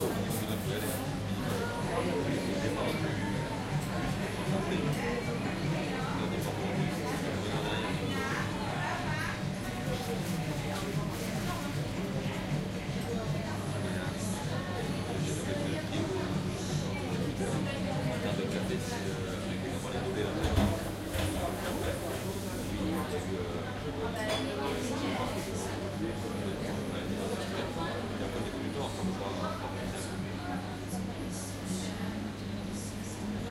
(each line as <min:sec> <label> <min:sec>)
0:00.0 chatter 0:33.5